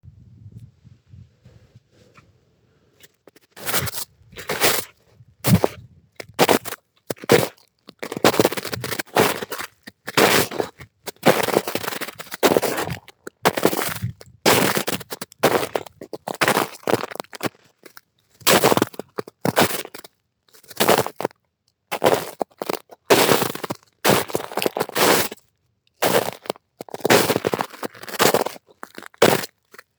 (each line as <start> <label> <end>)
3.2 Footsteps in snow 17.5
3.6 jumping/landing in snow 7.5
18.5 Footsteps in snow 20.0
20.6 Footsteps in snow 21.2
21.9 Footsteps in snow 25.4
26.0 Footsteps in snow 29.5